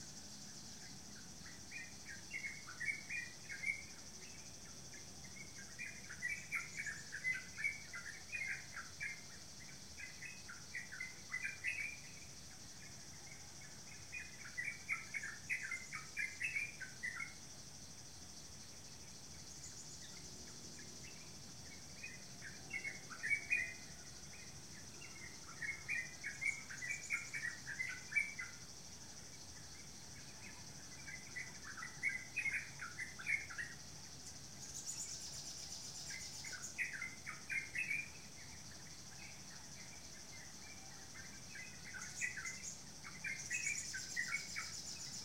0.0s Bird 17.5s
19.1s Bird 45.2s

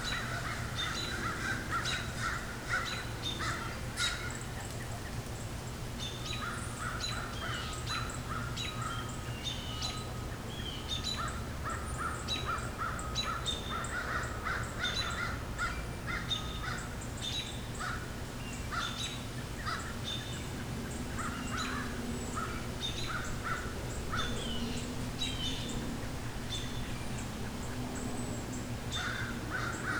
0.0s planes overhead 29.9s
6.0s birdsong 29.9s

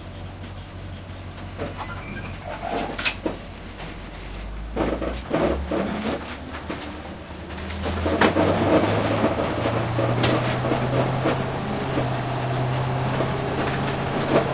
0.0s bus 14.5s

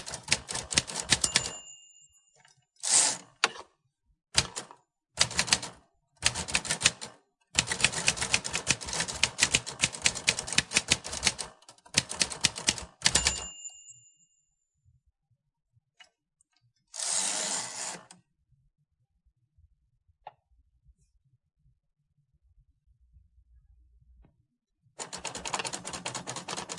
0.0s Typing at different speeds 1.8s
4.4s Typing at different speeds 13.6s
17.0s page crank 18.2s
25.0s Typing at different speeds 26.7s

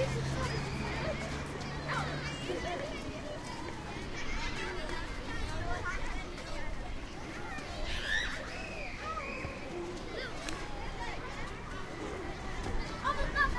0.0s schoolchildren leaving school 13.5s

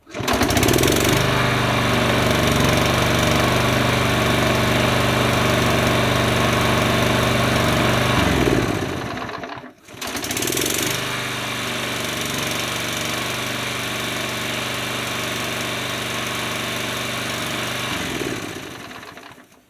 0.0s gas-powered pushmower 19.6s

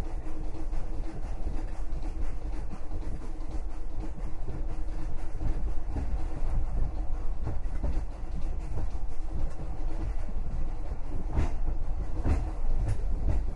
0.0s night train 13.5s

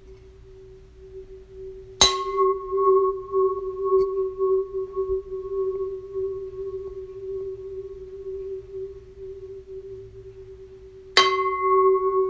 2.0s Knocking a pan lid producing a long sustain 4.6s
11.2s Knocking a pan lid producing a long sustain 12.2s

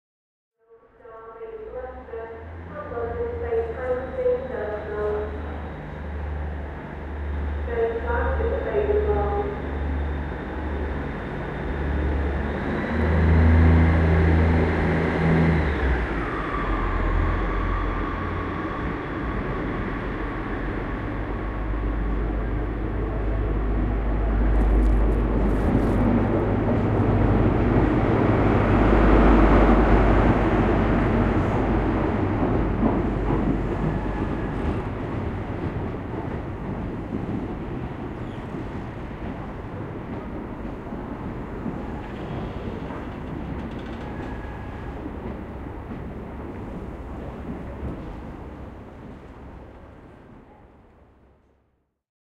0.6s railway station announcer 10.9s
0.7s train leaving the station 51.7s

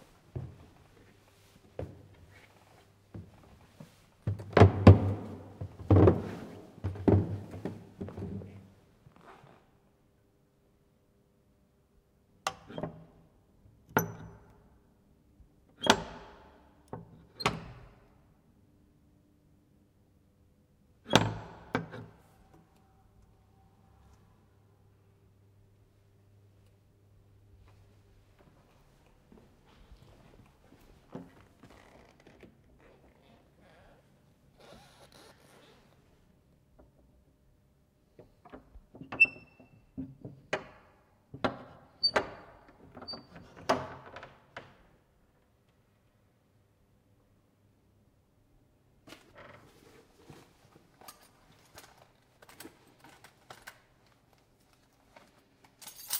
4.3s creaking stairs 9.3s

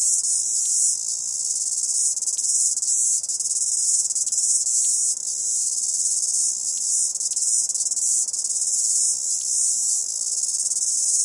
0.0s cicadas chirping 11.2s

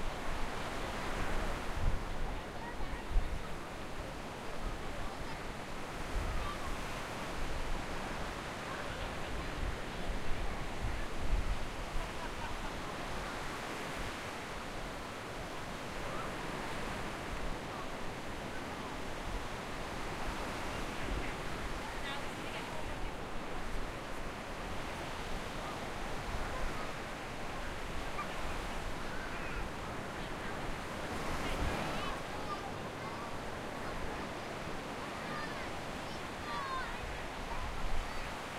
0.0s waves on the sand 38.5s
35.1s kids playing and screaming 38.4s

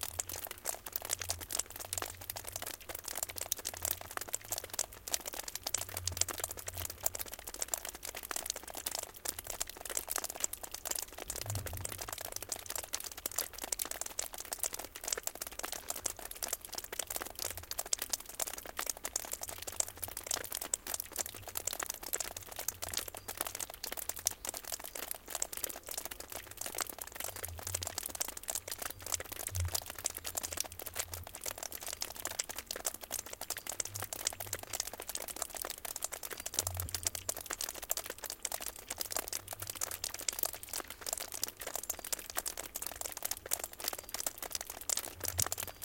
0.0s drops of water falling on the ground from the eaves 45.8s
23.0s small birds 25.1s

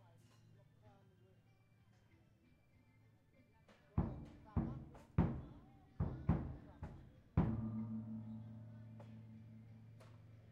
0.0s people talk in the background 10.5s
4.0s drum 10.4s
7.4s gong 10.5s

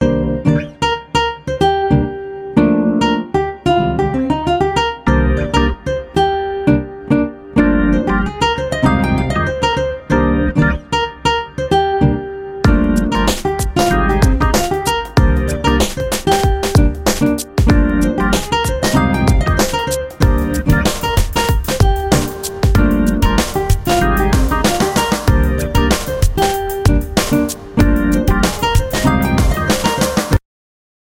5.0s Background music 30.4s

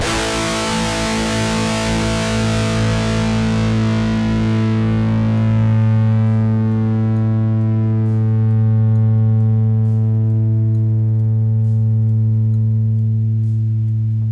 0.0s GUITAR LOOPS 14.3s

